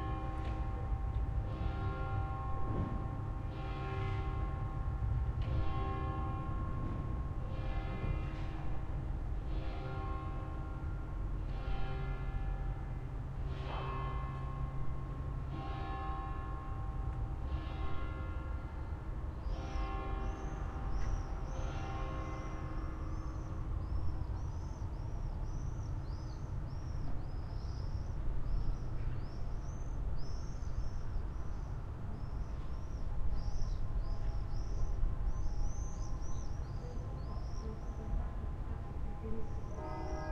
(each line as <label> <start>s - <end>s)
church bells 0.0s - 25.6s
church bells 38.9s - 40.3s